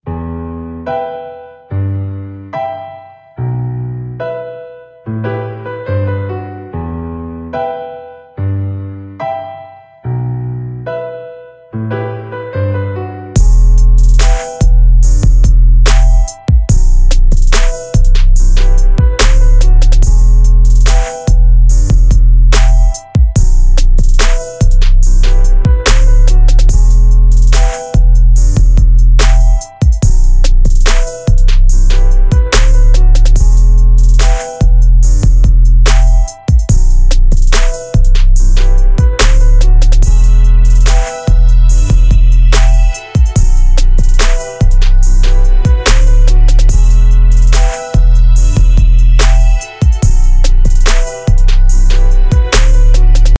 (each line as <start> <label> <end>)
13.4 beat 53.3